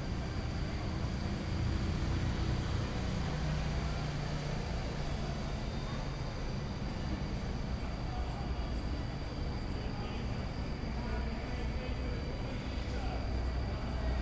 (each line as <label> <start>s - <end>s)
bus 0.0s - 14.2s